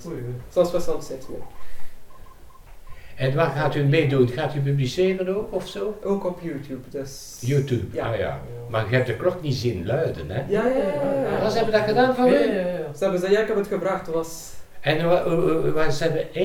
5.5s people speak dutch 16.4s

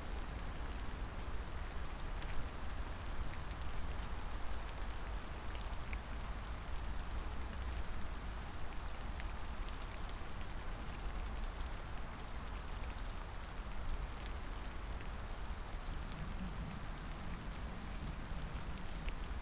0.0s rain 19.4s

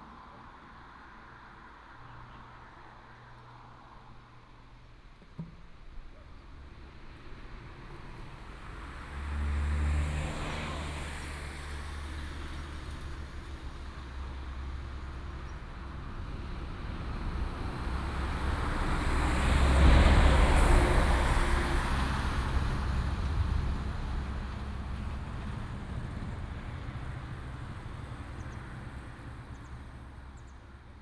6.5s Traffic sound 31.0s

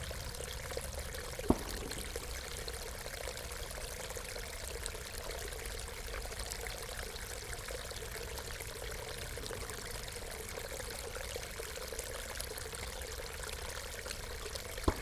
0.0s small stream of water flowing into pond 15.0s

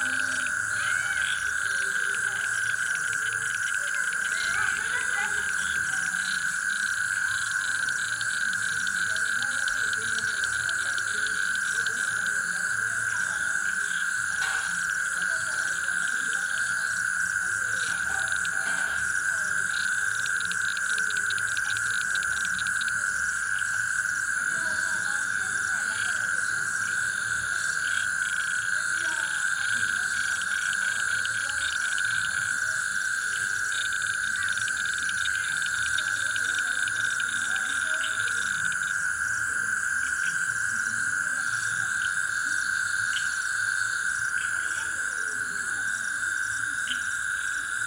0.0s Human voices in the background 47.8s
0.0s toads and frogs 47.8s

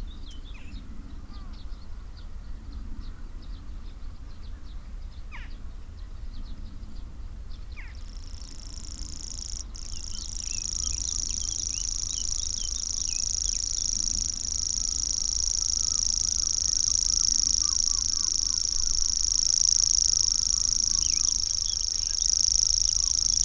7.9s Grasshopper warbler 23.4s
8.4s reed bunting 23.4s

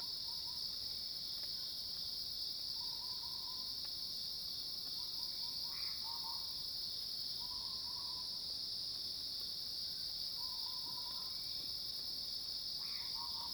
12.8s Cicadas cries 13.5s

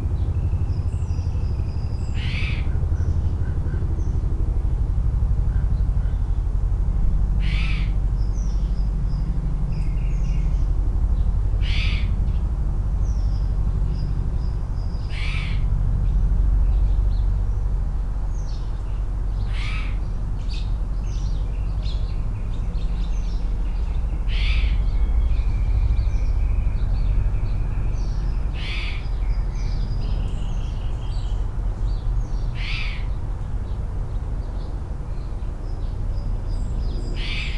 0.0s helicopters 37.5s
0.0s hummingbirds 37.5s
0.0s planes 37.5s

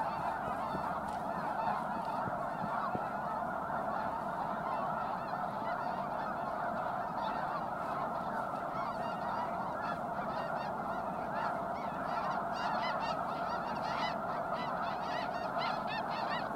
0.0s geese 16.5s
0.0s sandhill cranes 16.5s

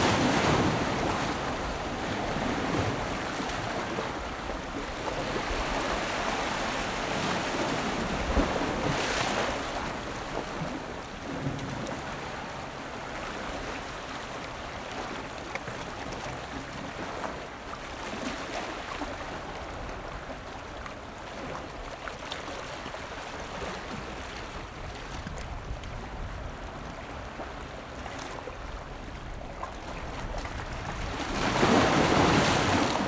0.0s Waves and tides 33.0s

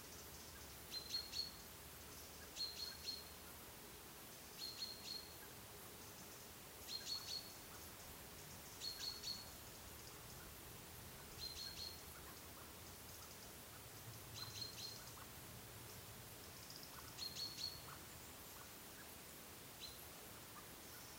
0.0s birds 21.1s

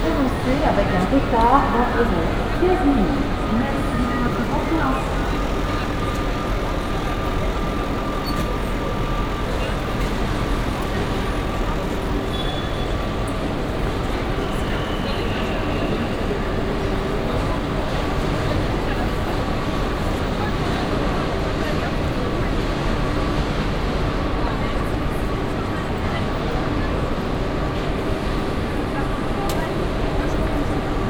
0.0s announcement 21.0s
21.9s announcement 22.8s

